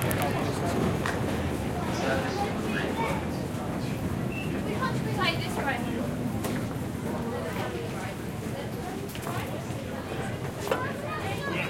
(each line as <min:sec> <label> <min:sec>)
0:00.0 crowd 0:11.6